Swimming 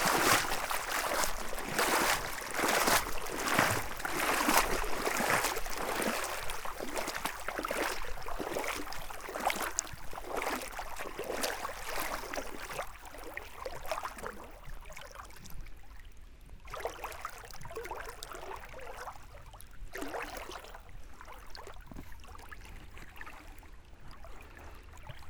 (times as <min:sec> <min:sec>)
0:00.0 0:15.3